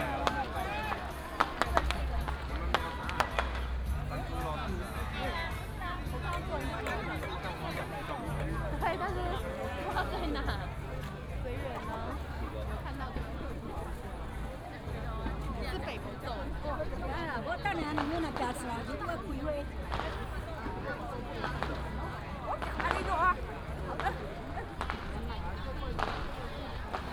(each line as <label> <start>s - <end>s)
Firecrackers 0.0s - 4.1s
Many people gathered in the street 0.0s - 27.1s
fireworks 0.0s - 3.8s
Firecrackers 19.8s - 27.1s
fireworks 19.9s - 20.4s
fireworks 21.4s - 21.8s
fireworks 22.6s - 23.3s
fireworks 23.9s - 27.1s